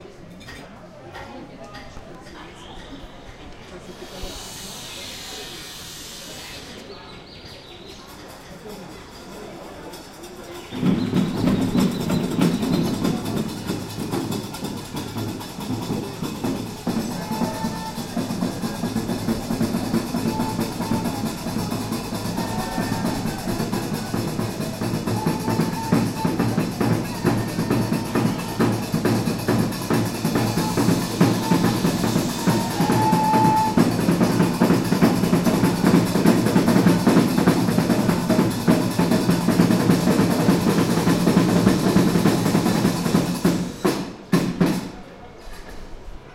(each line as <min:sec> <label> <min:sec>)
0:10.0 band of Gnawa musicians 0:45.8